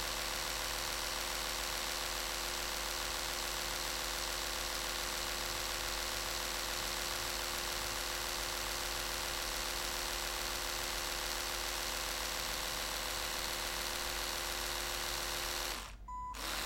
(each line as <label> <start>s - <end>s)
electric toothbrush 0.0s - 16.6s